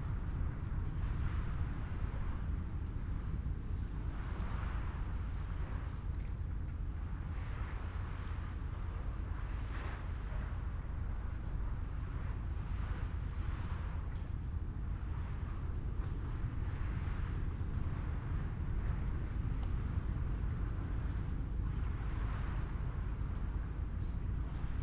Various Insects 0:00.0 - 0:24.8
waves from nearby beach 0:06.9 - 0:24.8

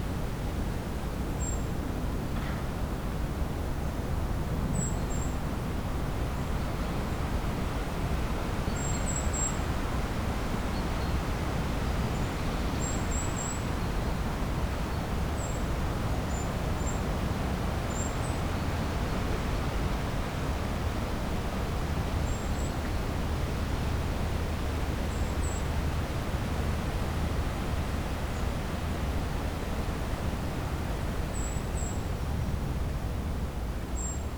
trees swaying in the wind 0:00.0 - 0:34.3

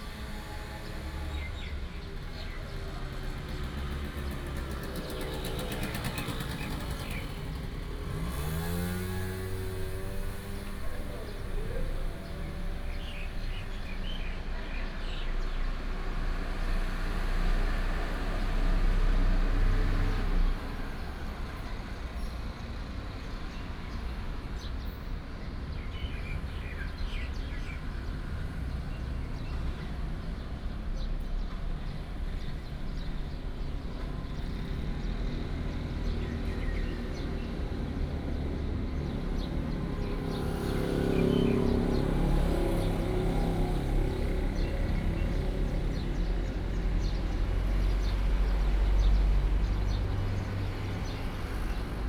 traffic Sound 0:00.0 - 0:52.0
Bird sound 0:00.8 - 0:15.8
Bird sound 0:22.1 - 0:52.0

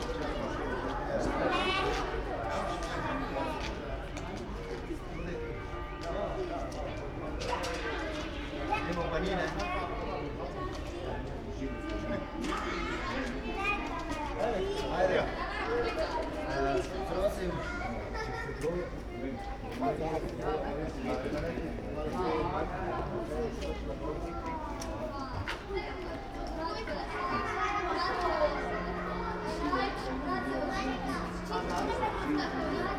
kids and parents waiting in front of a house 0:00.0 - 0:32.9
church bells 0:27.1 - 0:32.9

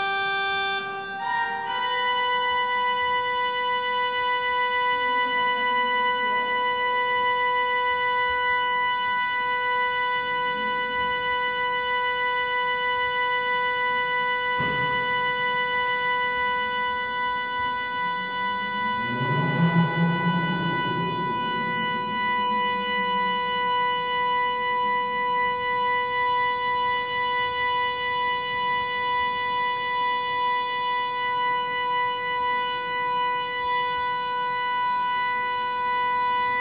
pipe organ being tuned 0:00.0 - 0:36.6
visitors talking and walking around 0:13.8 - 0:26.2

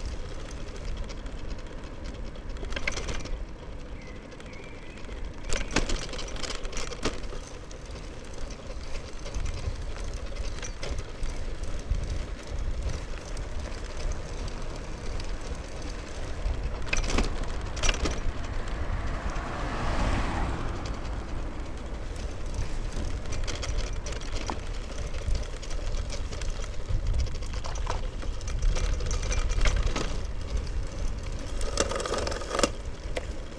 Bicycle ride on cobblestone 0:00.0 - 0:33.5

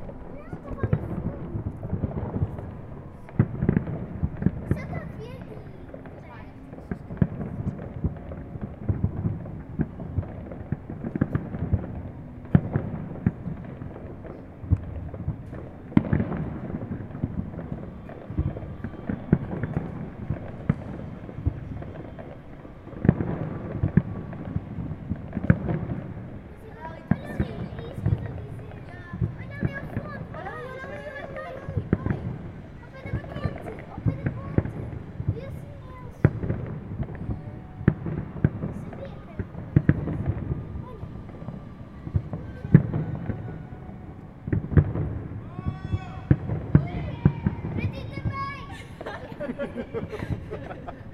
Fireworks 0:00.0 - 0:51.1
people yelling 0:17.5 - 0:21.0
people yelling 0:40.0 - 0:44.0
people yelling 0:44.7 - 0:49.6

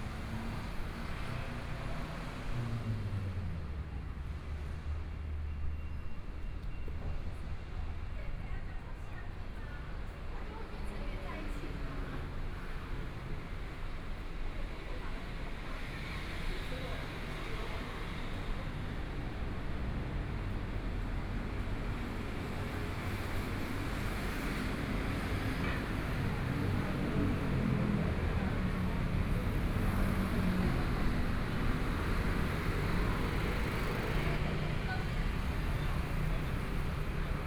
Traffic Sound 0:11.0 - 0:37.4

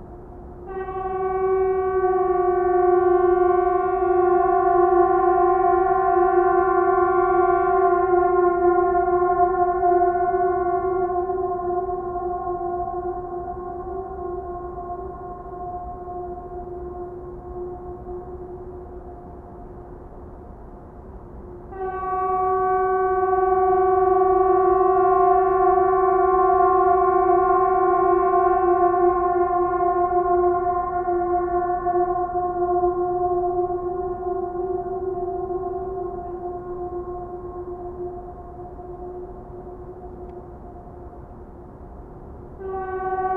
Emergency horns testing 0:00.7 - 0:19.4
Emergency horns testing 0:21.7 - 0:41.2
Emergency horns testing 0:42.6 - 0:43.3

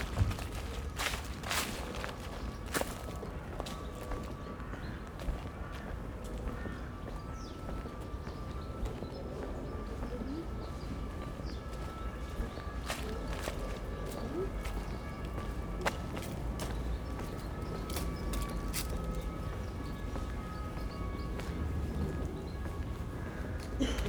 Walking through autumn leaves 0:00.0 - 0:04.3
small flock of chattering sparrows 0:00.0 - 0:24.0
Crows 0:04.6 - 0:08.0
sirens approach and then stop abruptly 0:06.9 - 0:24.0
Walking through autumn leaves 0:10.7 - 0:24.0

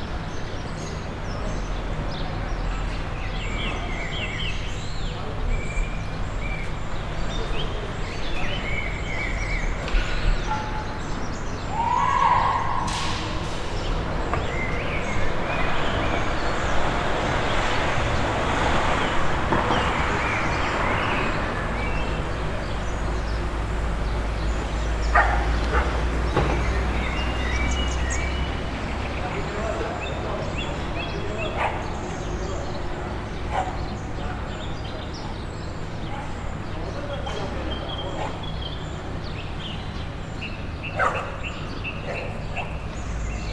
barking dog 0:41.0 - 0:41.3

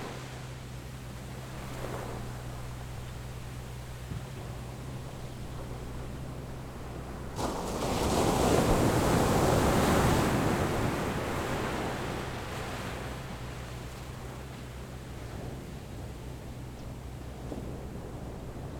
waves 0:00.0 - 0:18.7

